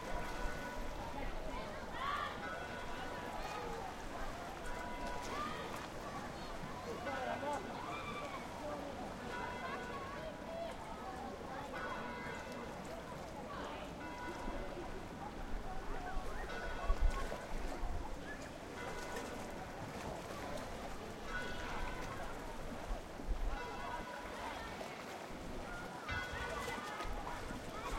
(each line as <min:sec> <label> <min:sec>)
0:00.0 couple entering the water 0:27.9
0:00.0 sea 0:27.9
0:26.1 church bells ringing 0:26.8